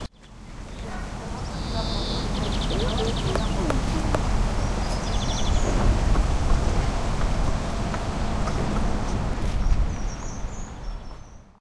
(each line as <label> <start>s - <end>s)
greenfinch 1.4s - 5.8s